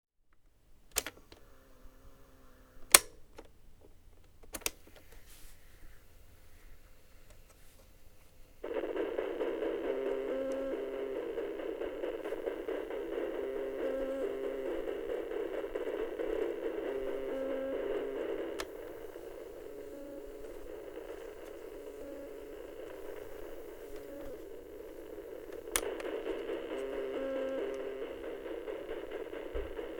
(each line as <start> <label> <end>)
0.9 tape cassette deck sounds 5.3
0.9 Pressing some buttons 1.5
2.8 Pressing some buttons 3.6
8.6 tape cassette deck sounds 29.9
8.6 fast-forwarding 29.9
12.2 Pressing some buttons 28.2